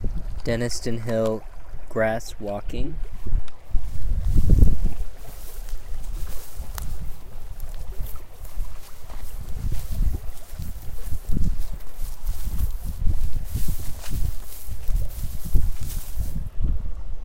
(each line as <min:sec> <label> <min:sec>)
0:03.0 Walking in morning grass 0:17.0